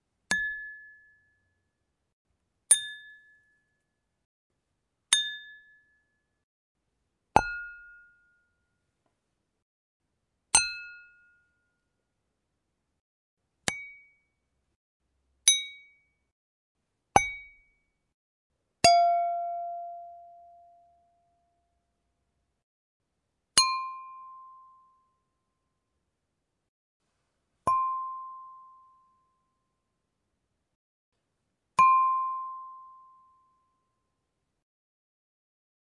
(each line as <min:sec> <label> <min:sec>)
0:00.3 glass 0:01.6
0:02.7 glass 0:03.9
0:05.1 glass 0:06.3
0:07.4 glass 0:08.8
0:10.5 glass 0:11.9
0:13.6 glass 0:14.4
0:15.4 glass 0:16.2
0:17.2 glass 0:17.8
0:18.8 glass 0:21.2
0:23.6 glass 0:25.3
0:27.6 glass 0:29.6
0:31.8 glass 0:34.0